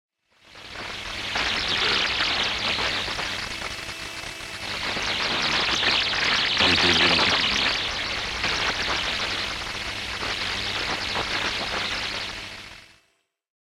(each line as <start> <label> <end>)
0.6 radio interferences 12.8